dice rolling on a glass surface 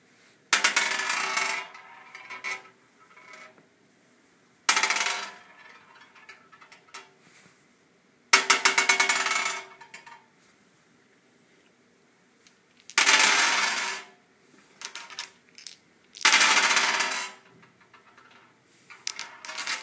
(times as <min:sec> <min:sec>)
0:00.6 0:03.6, 0:04.7 0:07.0, 0:08.4 0:10.2, 0:12.5 0:14.1, 0:14.8 0:19.8